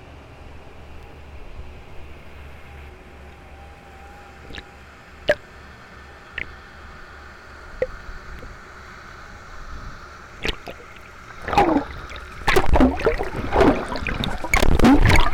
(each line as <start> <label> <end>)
0.0 boats 15.3